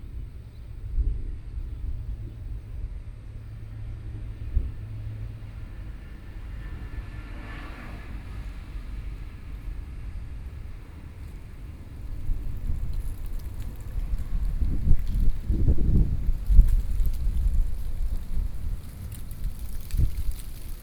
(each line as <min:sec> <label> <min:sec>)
0:00.0 Traffic Noise 0:20.8
0:02.6 Train traveling through 0:12.9